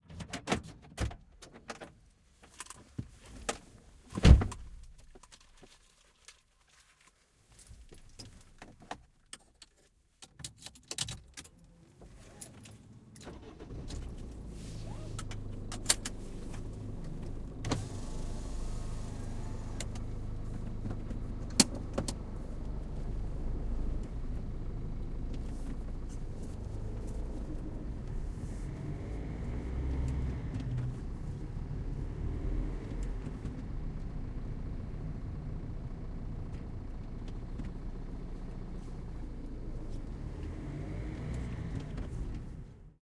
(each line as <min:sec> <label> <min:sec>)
0:10.5 engine 0:43.0